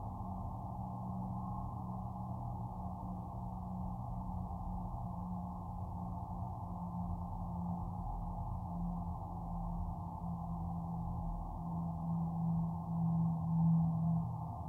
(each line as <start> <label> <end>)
0.0 drone from the Labadie Energy Center power plant 14.6
0.0 plane 14.6